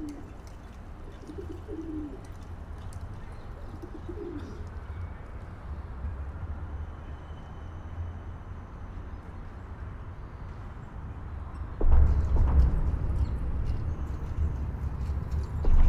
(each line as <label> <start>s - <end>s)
male pigeon cooing en courting a female 0.0s - 0.4s
male pigeon cooing en courting a female 1.1s - 2.4s
male pigeon cooing en courting a female 3.6s - 4.7s